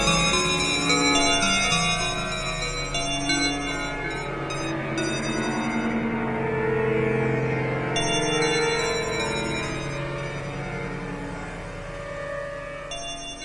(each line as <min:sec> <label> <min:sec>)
0:00.0 bell 0:06.4
0:07.9 bell 0:11.1
0:12.9 bell 0:13.4